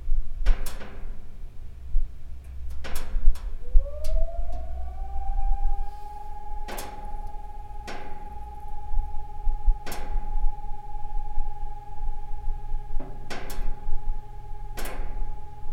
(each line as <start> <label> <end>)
3.5 test of siren 15.7